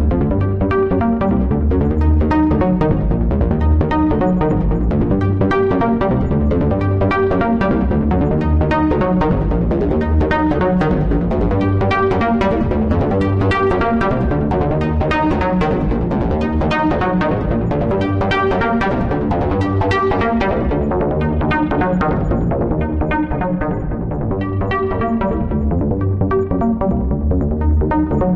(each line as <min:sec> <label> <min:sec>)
0:00.0 Bass heavy synth sequence 0:28.3